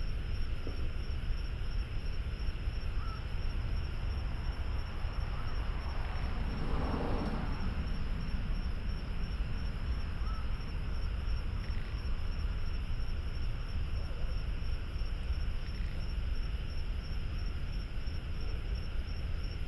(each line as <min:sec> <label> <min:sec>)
0:00.1 Frogs 0:19.6
0:02.4 Traffic Sound 0:14.0